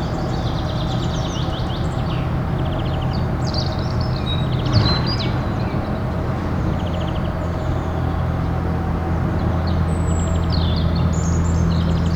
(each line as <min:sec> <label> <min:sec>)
0:00.0 excavators of a construction site 0:12.1